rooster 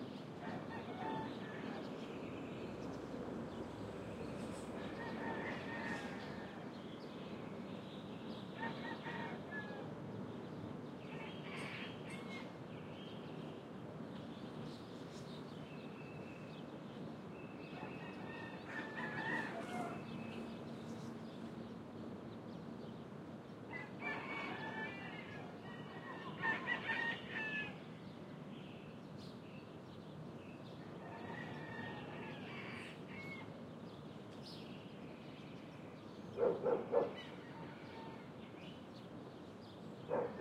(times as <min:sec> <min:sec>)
0:00.4 0:02.0, 0:04.8 0:06.8, 0:08.6 0:09.9, 0:17.7 0:20.3, 0:23.7 0:27.8, 0:31.0 0:33.5, 0:36.9 0:38.4